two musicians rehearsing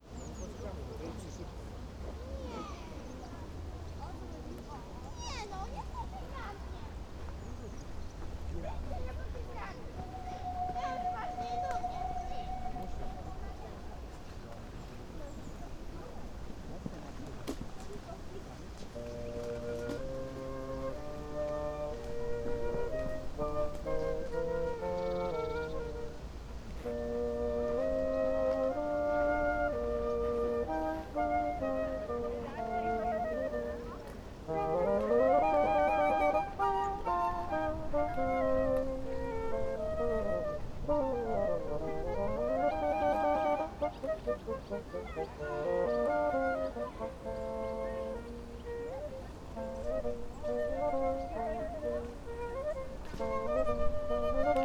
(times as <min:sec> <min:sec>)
0:18.6 0:54.6